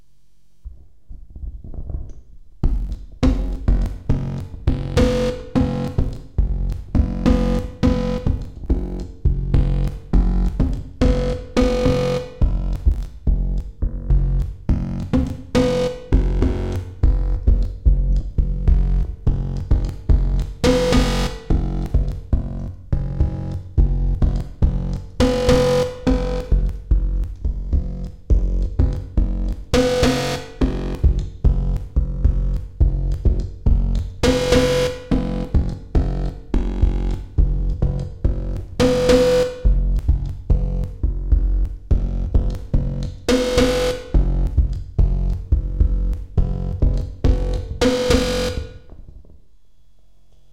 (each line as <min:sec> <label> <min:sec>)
0:30.7 microphone beat 0:49.4